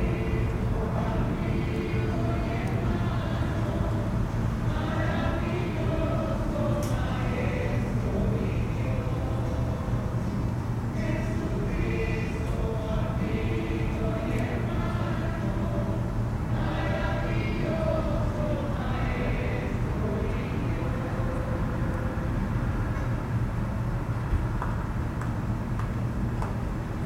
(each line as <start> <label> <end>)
0.0 church singers rehearsing 23.4